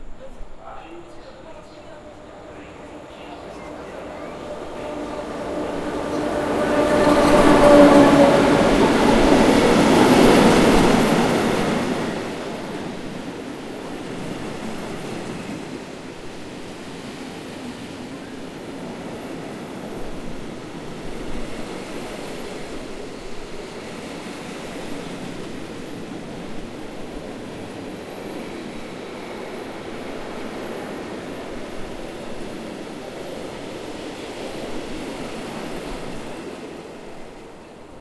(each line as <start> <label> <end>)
0.0 train passing by 38.0